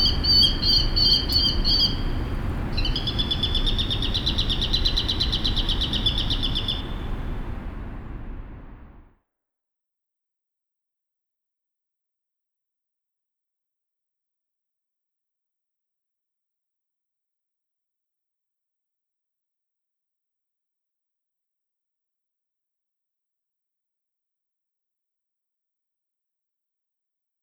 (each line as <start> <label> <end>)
0.0 street traffic 9.1